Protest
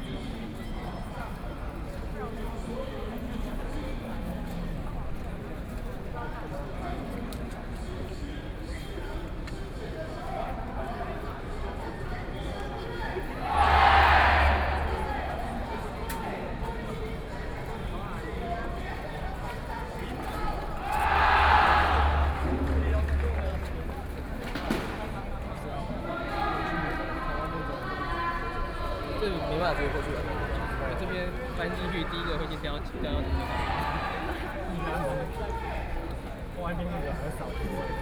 13.3 16.1, 20.6 24.3

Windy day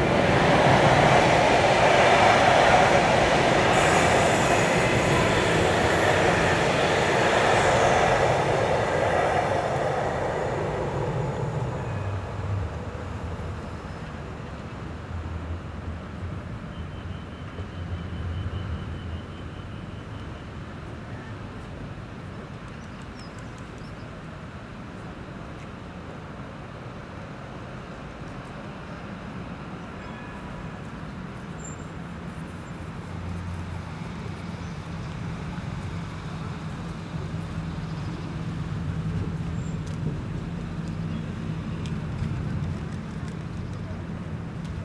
0.0 14.4

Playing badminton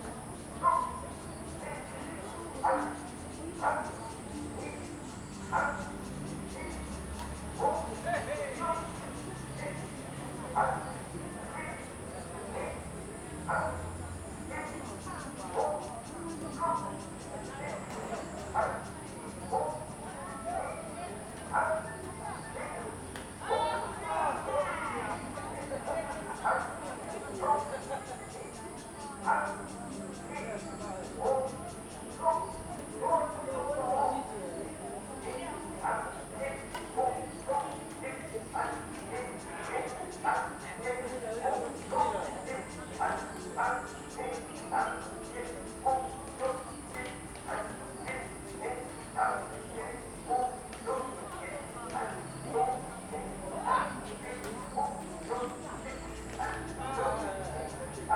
31.2 56.8

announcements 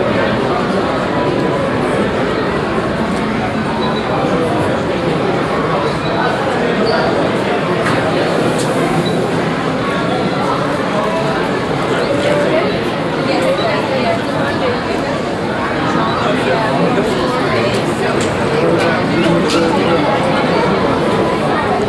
7.7 21.8

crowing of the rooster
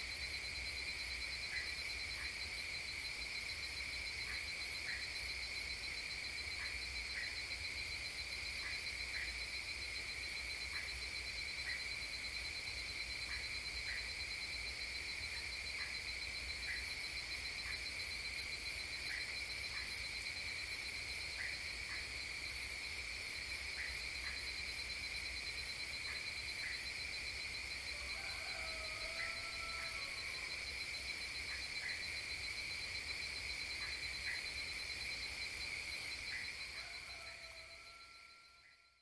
27.9 30.5, 36.7 38.7

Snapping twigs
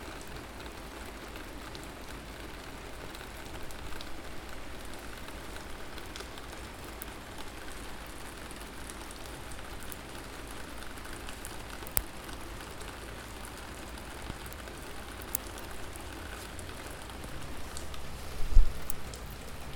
11.8 12.2, 14.2 15.9

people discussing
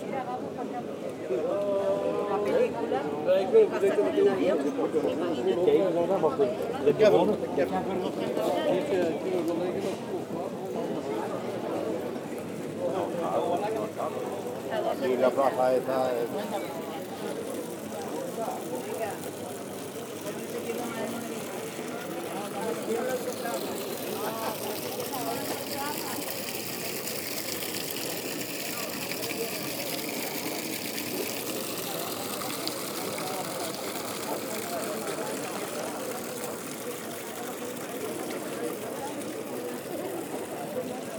13.1 41.1

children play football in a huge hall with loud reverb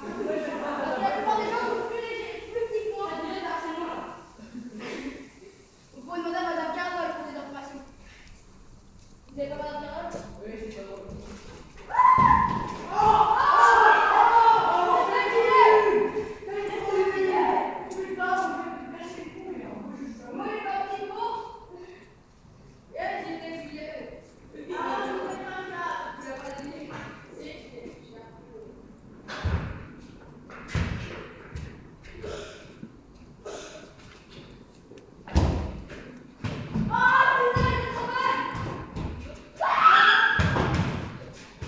0.0 8.2, 11.2 19.4, 27.0 34.6, 35.2 41.6

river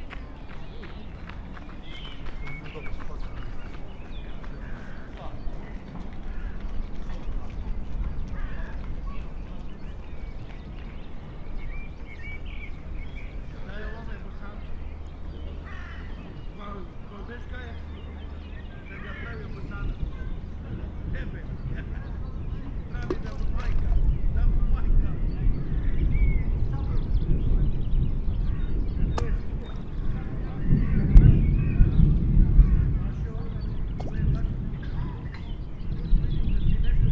0.0 24.4, 29.1 30.6, 33.0 36.5

